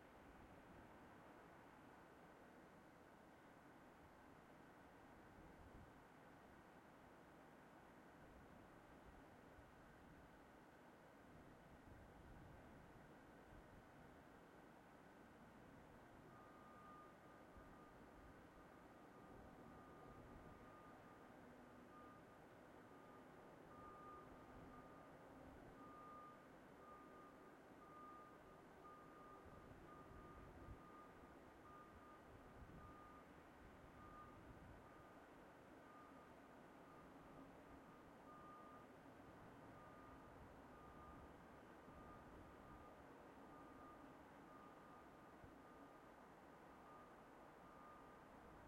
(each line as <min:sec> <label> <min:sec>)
0:00.0 sounds of the town 0:48.6